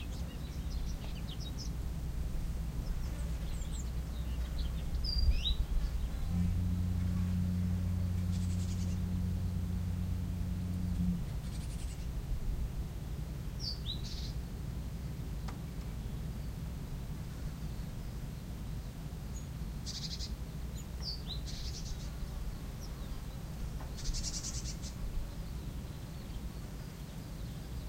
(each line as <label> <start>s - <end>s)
distant ship 0.0s - 26.5s
Birds singing at various distance 0.0s - 27.8s
Drone ambiance 0.0s - 27.8s
Wind 0.0s - 27.8s
bees 2.9s - 11.9s